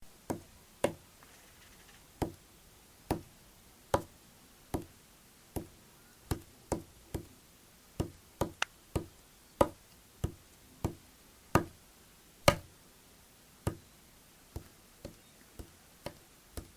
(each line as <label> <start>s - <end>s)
taps and hits with a finger on a wall 0.3s - 1.0s
taps and hits with a finger on a wall 2.2s - 2.4s
taps and hits with a finger on a wall 3.1s - 3.3s
taps and hits with a finger on a wall 3.9s - 4.1s
taps and hits with a finger on a wall 4.7s - 4.9s
taps and hits with a finger on a wall 5.6s - 7.3s
taps and hits with a finger on a wall 8.0s - 11.8s
taps and hits with a finger on a wall 12.5s - 12.7s
taps and hits with a finger on a wall 13.6s - 13.8s
taps and hits with a finger on a wall 14.5s - 16.7s